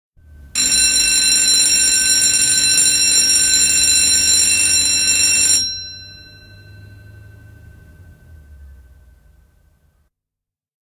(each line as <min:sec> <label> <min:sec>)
0:00.6 School bell, electronic 0:09.8